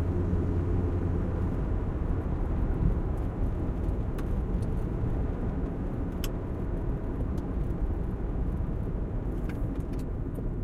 car engine 0:00.0 - 0:10.6

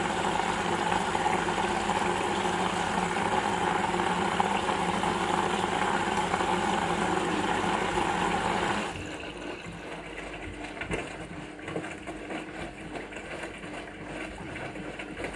washing machine in the wash cycle 0:00.0 - 0:15.3

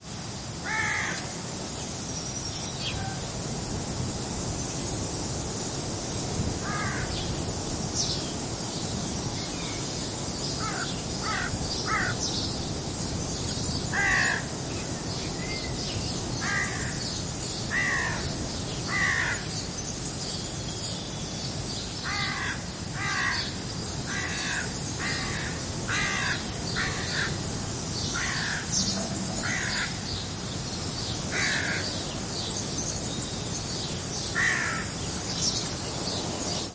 noise from wind on trees 0:00.0 - 0:36.7
crow caws repeatedly while flying 0:00.6 - 0:01.4
crow caws repeatedly while flying 0:06.6 - 0:07.2
crow caws repeatedly while flying 0:10.6 - 0:12.2
crow caws repeatedly while flying 0:13.9 - 0:14.6
crow caws repeatedly while flying 0:16.4 - 0:17.0
crow caws repeatedly while flying 0:17.7 - 0:19.5
crow caws repeatedly while flying 0:22.0 - 0:27.5
crow caws repeatedly while flying 0:28.1 - 0:30.1
crow caws repeatedly while flying 0:31.2 - 0:32.1
crow caws repeatedly while flying 0:34.3 - 0:35.0

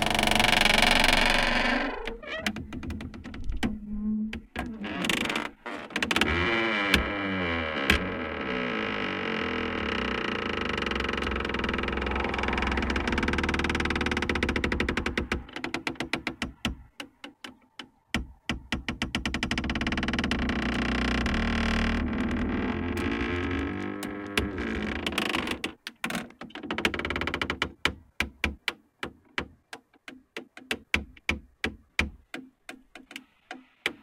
Creaky door 0:00.0 - 0:16.6
wind 0:00.0 - 0:34.0
Creaky door 0:18.8 - 0:27.8

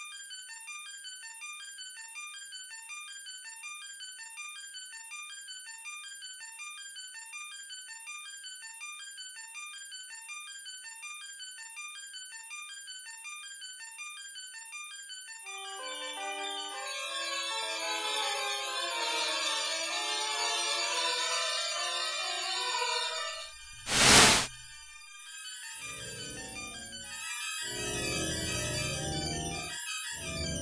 static and drone bursts 0:23.9 - 0:24.5

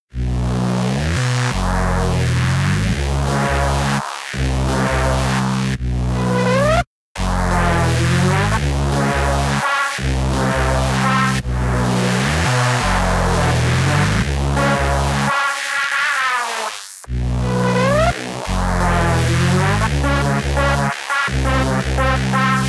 bass 0:00.1 - 0:15.4
synth lead 0:00.2 - 0:22.6
bass 0:17.1 - 0:22.6

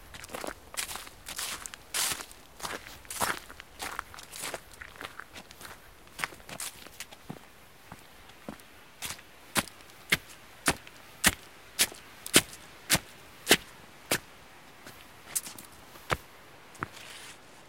crunchy step walking leafes 0:00.1 - 0:17.4

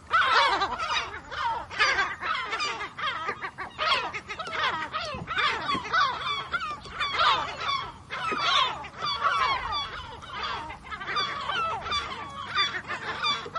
Lesser black-backed gull, a loud, noisy flock 0:00.0 - 0:13.5

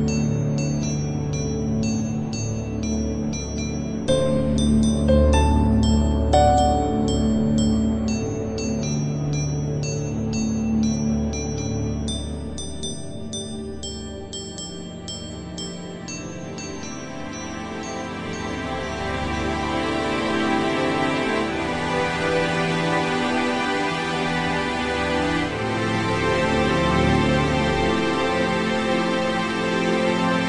piano 0:00.0 - 0:13.8
bell 0:00.0 - 0:21.5
strings 0:00.0 - 0:30.4
synth 0:02.2 - 0:08.9

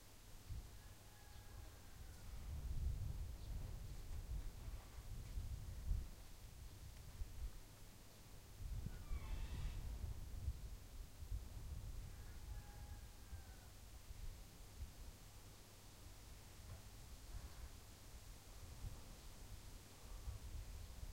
farm sounds very distant 0:00.5 - 0:05.2
farm sounds very distant 0:08.8 - 0:10.1
farm sounds very distant 0:11.8 - 0:14.6

